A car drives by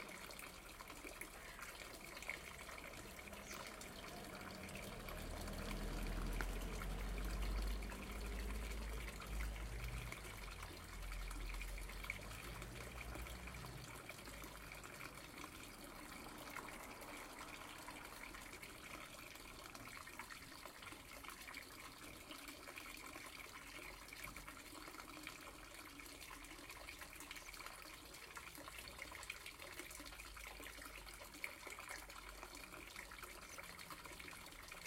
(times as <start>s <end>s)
2.4s 19.5s